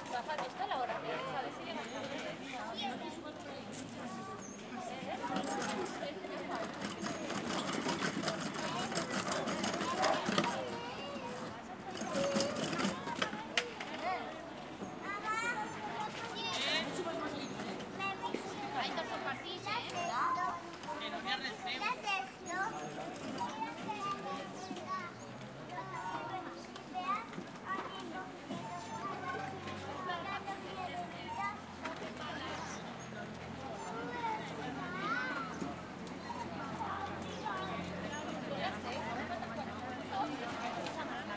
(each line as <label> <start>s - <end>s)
children 0.0s - 41.3s